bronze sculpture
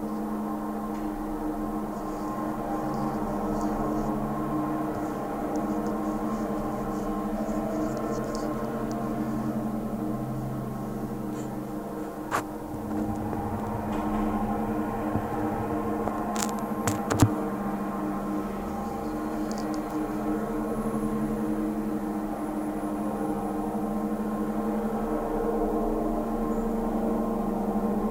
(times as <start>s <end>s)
0.5s 17.4s